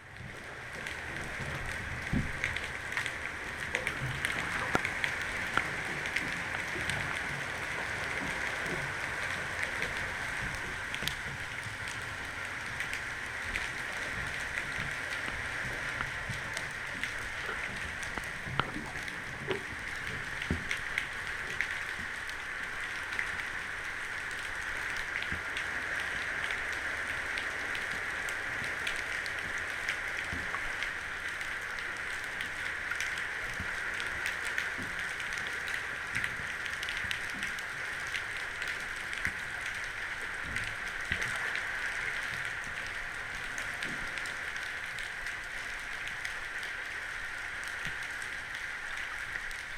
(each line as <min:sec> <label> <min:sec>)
0:00.0 cargo ship 0:49.7